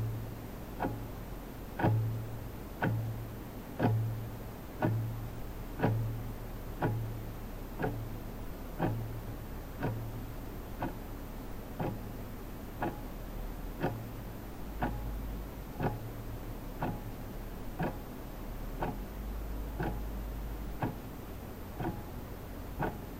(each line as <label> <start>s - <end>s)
analog office clock, front perspective, muted ticks 0.0s - 23.1s